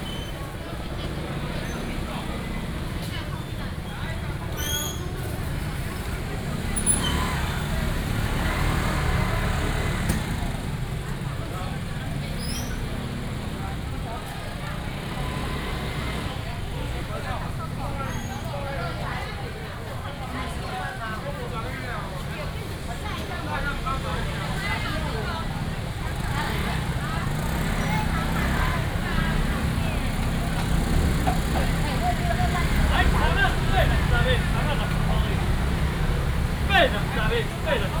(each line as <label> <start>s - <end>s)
Walking in the traditional market 0.0s - 38.0s
motorcycles 0.0s - 38.0s
vendors peddling 0.0s - 38.0s